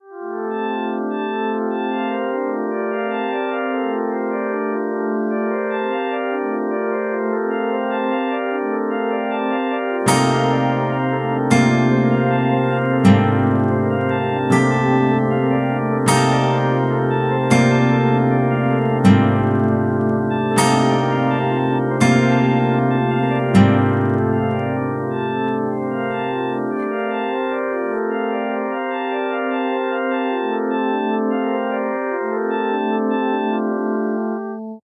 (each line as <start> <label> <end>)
0.0 sine wave tones 34.8
0.5 Guitar chords 34.8